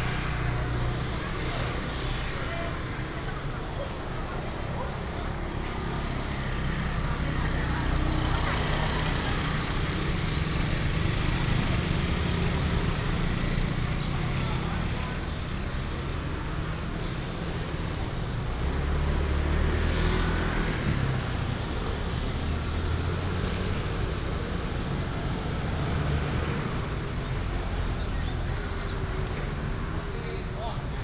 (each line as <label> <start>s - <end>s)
traffic sound 0.0s - 31.0s